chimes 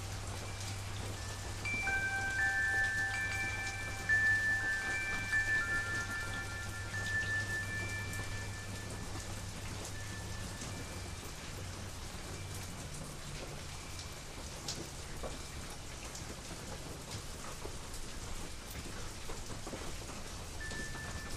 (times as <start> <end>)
0.0 15.8, 20.6 21.3